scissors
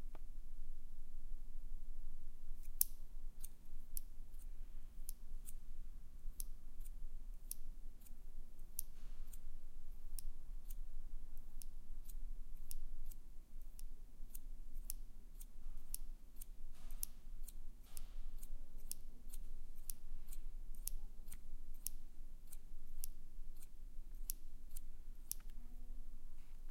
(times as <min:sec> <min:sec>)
0:11.5 0:25.5